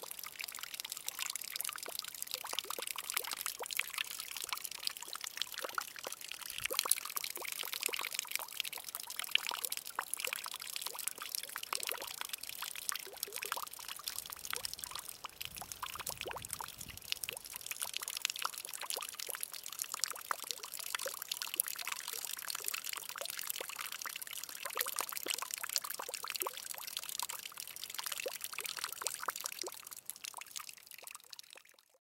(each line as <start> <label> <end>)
0.0 water butt during rain 31.9